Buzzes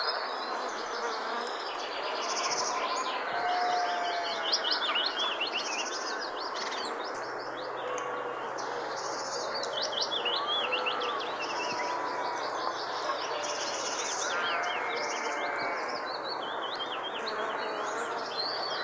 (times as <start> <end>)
17.3 18.3